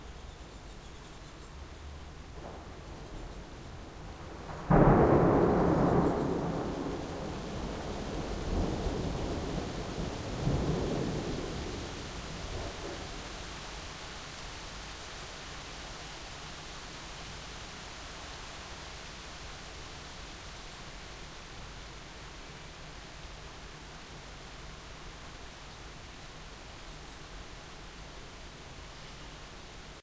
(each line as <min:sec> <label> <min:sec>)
0:00.0 rain 0:30.0
0:04.1 thunderclaps 0:13.3